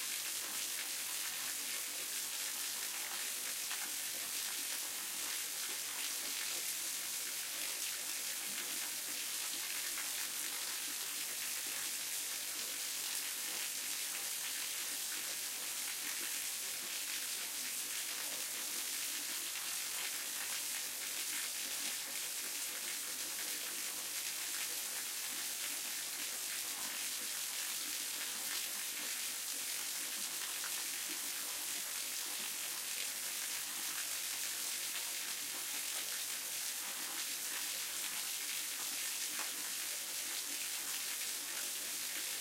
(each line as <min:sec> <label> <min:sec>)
0:00.0 flow of water in a waterfall 0:42.4